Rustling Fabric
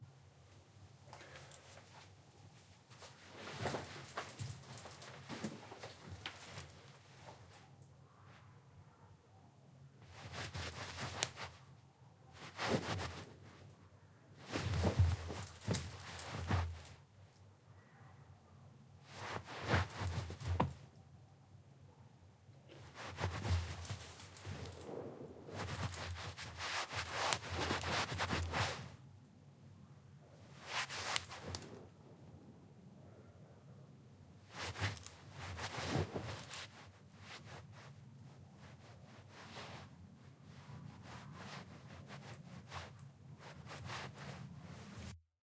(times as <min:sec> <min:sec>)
0:01.2 0:07.7, 0:10.0 0:13.8, 0:14.4 0:17.0, 0:19.0 0:20.9, 0:22.7 0:29.0, 0:30.5 0:32.0, 0:34.4 0:45.2